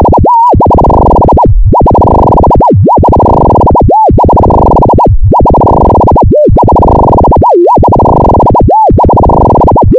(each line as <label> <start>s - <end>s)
Burbling noise 0.0s - 9.9s